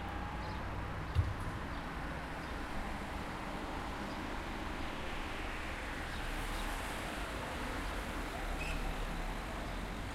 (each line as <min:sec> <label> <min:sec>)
0:00.0 Traffic 0:10.1